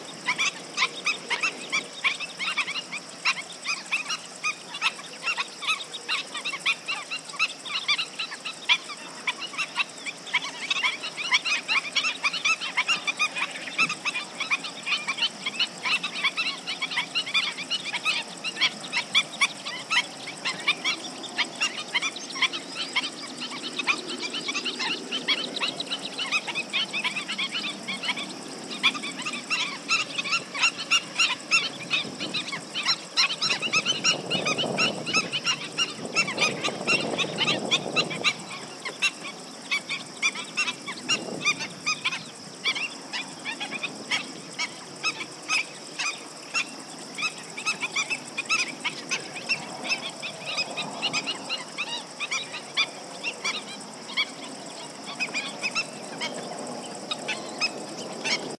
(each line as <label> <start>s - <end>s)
several species of birds wading in a shallow swamp 0.0s - 58.5s
wind noise 18.3s - 51.7s